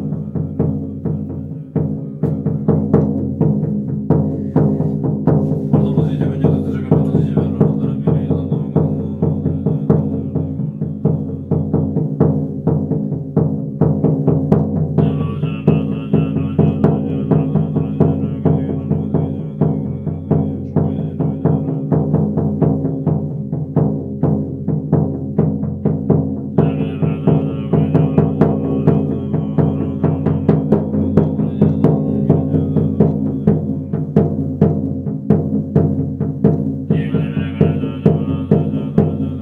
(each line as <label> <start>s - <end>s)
drum 0.0s - 39.4s
monk 0.0s - 39.4s